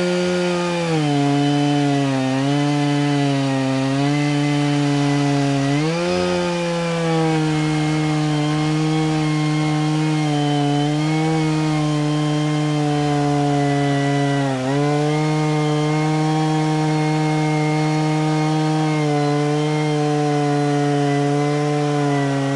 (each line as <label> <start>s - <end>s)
chainsaw crosscutting dry hardwood branches 0.0s - 22.5s